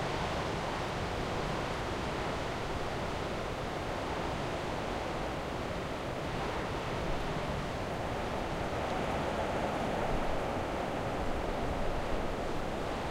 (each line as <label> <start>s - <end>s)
rain 0.0s - 13.1s
Wind storm hitting the limestone rocks of a cliff 0.0s - 13.1s